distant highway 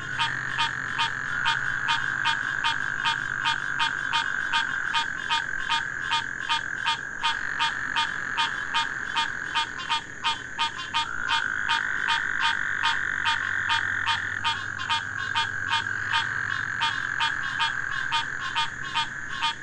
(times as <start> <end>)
6.4 19.6